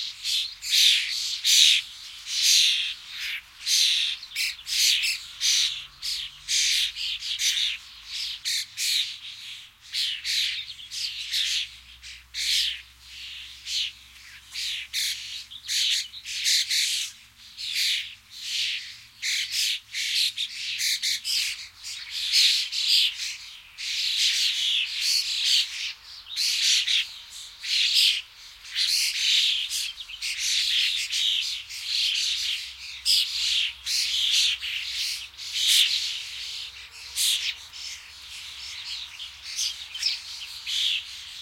Starling, flock chirping in a tree 0.0 - 41.4

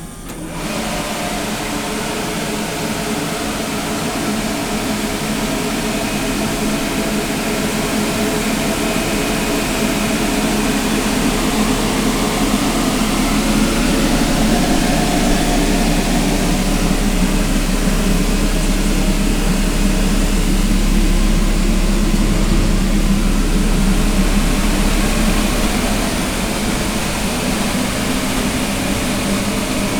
jet-like sound of a diesel-powered boiler generating steam 0.0 - 29.9

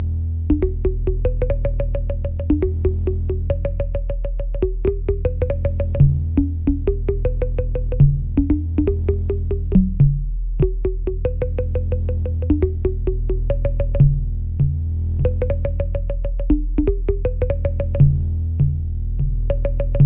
low-frequency drum loop 0.0 - 20.0
Bongo Blips 0.5 - 10.0
Bongo Blips 10.6 - 14.2
Bongo Blips 15.2 - 18.2
Bongo Blips 19.5 - 20.0

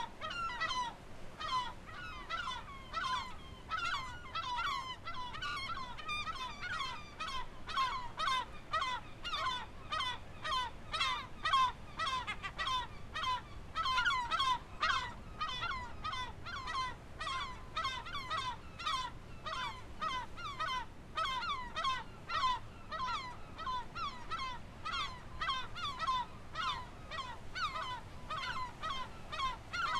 Angry kelp gulls flying around their nests 0.2 - 29.9

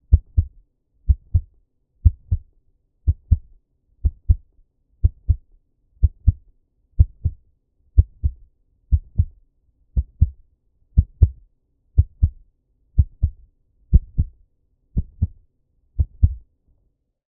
heartbeat 0.0 - 0.5
heartbeat 1.1 - 2.5
heartbeat 3.1 - 6.4
heartbeat 7.0 - 7.4
heartbeat 8.0 - 9.4
heartbeat 10.0 - 10.4
heartbeat 11.0 - 11.4
heartbeat 12.0 - 12.4
heartbeat 13.0 - 14.4
heartbeat 15.0 - 15.4
heartbeat 16.0 - 16.4

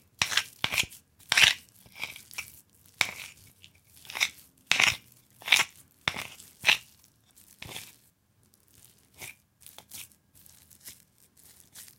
bowl and mash 0.0 - 11.9

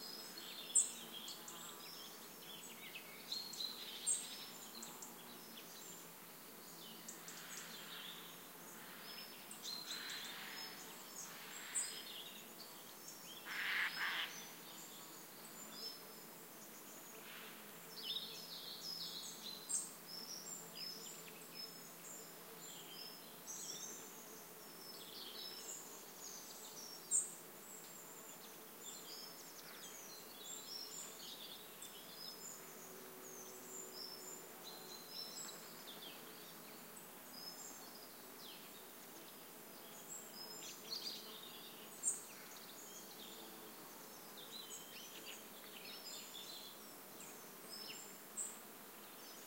buzzing insects 0.0 - 49.4
singing birds 17.9 - 49.4

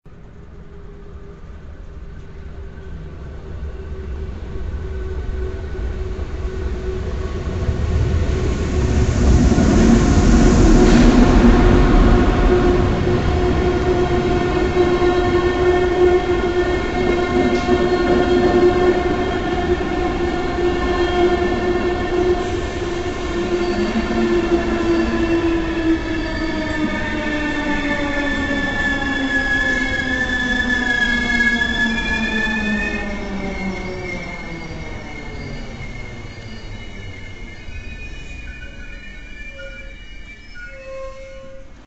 Incoming Train using brakes 0.9 - 41.8

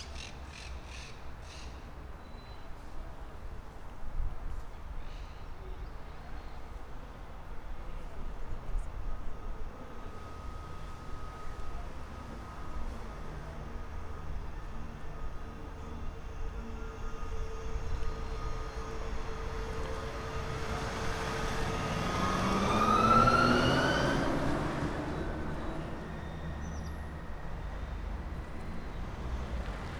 Traffic 0.0 - 29.9

